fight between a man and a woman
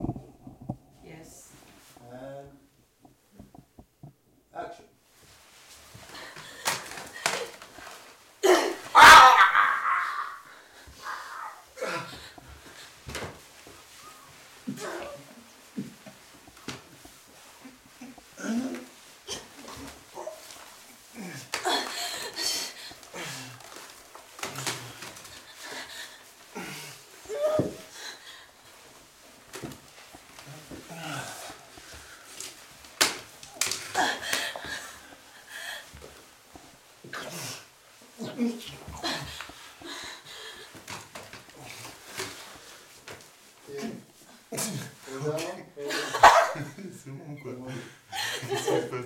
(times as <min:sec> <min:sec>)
0:09.0 0:10.3